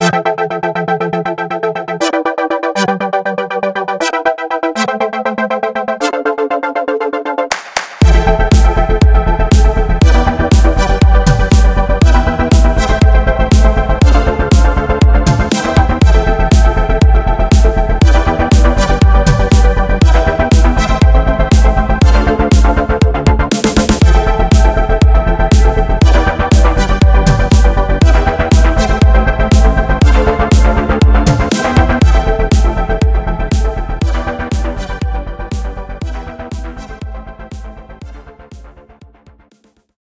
Synthwave 0:00.0 - 0:38.8

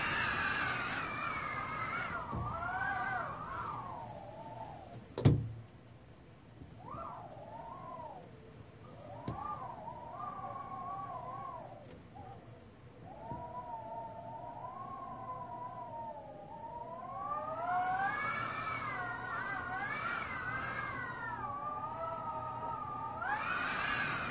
Wind howling through cracks in a window 0:00.0 - 0:24.3

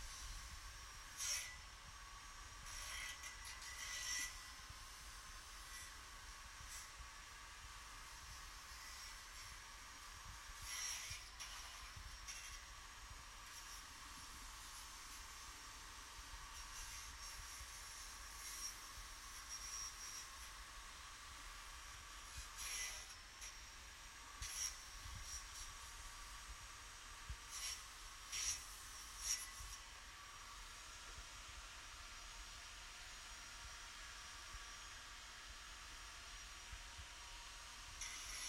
Distant Angle Grinder 0:00.0 - 0:01.7
Distant Angle Grinder 0:02.6 - 0:06.0
Distant Angle Grinder 0:10.6 - 0:12.8
Distant Angle Grinder 0:22.0 - 0:26.0
Distant Angle Grinder 0:27.5 - 0:29.9
Distant Angle Grinder 0:38.0 - 0:38.4

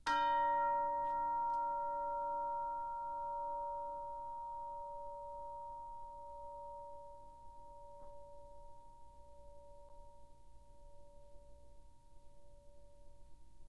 Orchestral Chimes/Tubular Bells 0:00.1 - 0:09.9

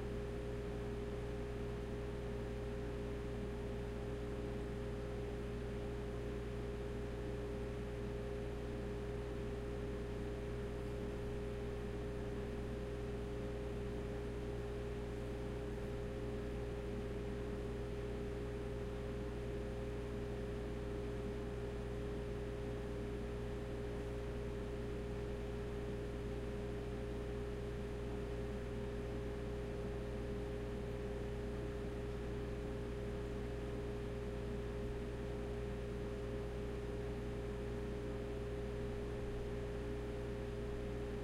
room tone kitchen fridge 0:00.0 - 0:41.2

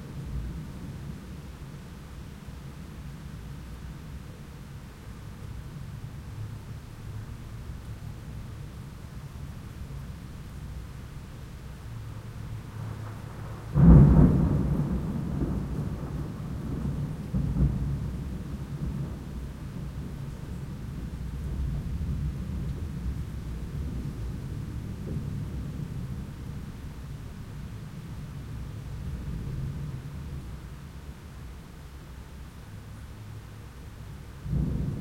Distant Thunder 0:12.5 - 0:26.8
Distant Thunder 0:34.4 - 0:35.0

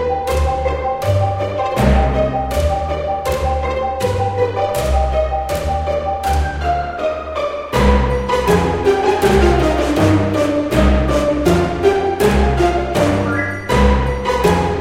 woodwind 0:12.3 - 0:14.8
triangle 0:13.0 - 0:14.8

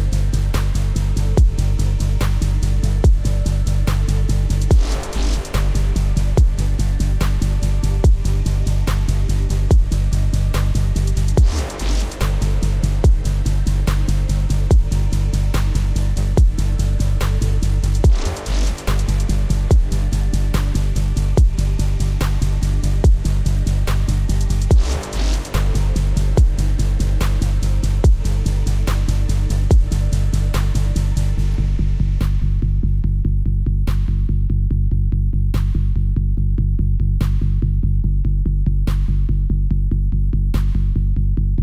brass 0:00.0 - 0:33.1
bass 0:00.0 - 0:41.6

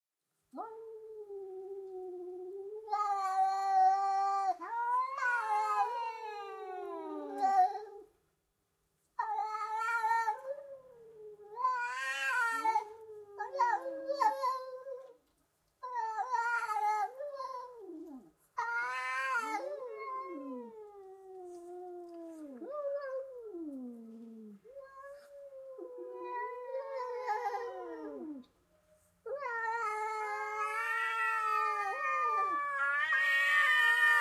Two cats scream and fight 0:02.9 - 0:07.9
Two cats scream and fight 0:09.2 - 0:10.5
Two cats scream and fight 0:11.5 - 0:15.1
Two cats scream and fight 0:15.9 - 0:20.7
Two cats scream and fight 0:24.8 - 0:28.4
Two cats scream and fight 0:29.3 - 0:34.2

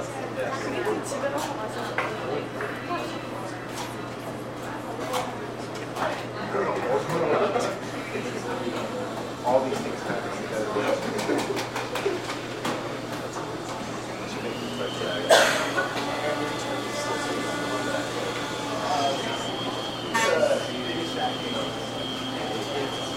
patrons conversing to each other 0:00.0 - 0:23.1
university students doing their homework 0:00.0 - 0:23.1
room tone 0:13.7 - 0:23.1

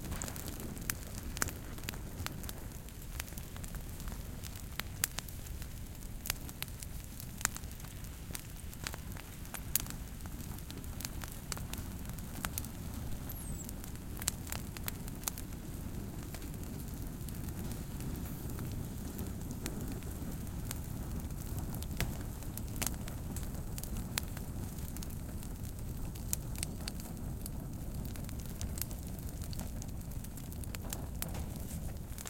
brushwood in the fire 0:00.0 - 0:32.2

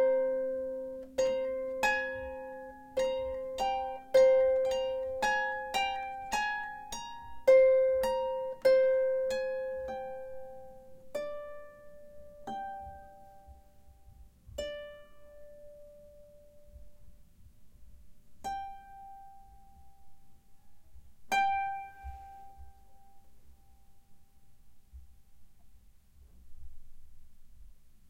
Harp Improvisation 0:21.3 - 0:23.8

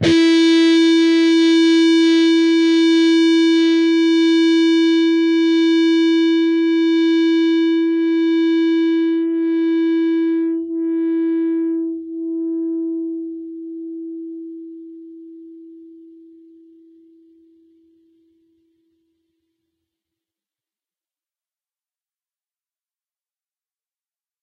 distorted guitar 0:00.0 - 0:17.4

